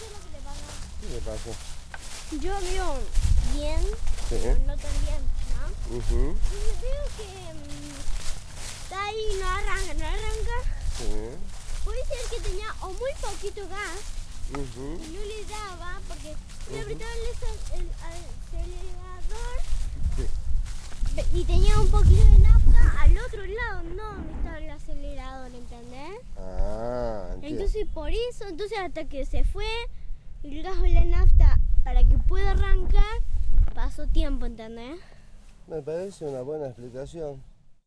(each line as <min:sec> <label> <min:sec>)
0:08.9 speech 0:20.3
0:21.2 speech 0:29.8